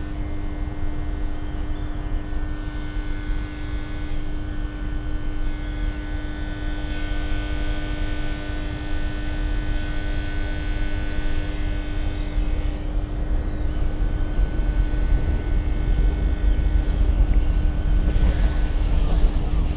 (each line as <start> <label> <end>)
0.0 Transformer drone 19.7
0.0 trains 19.7
12.4 trams 19.7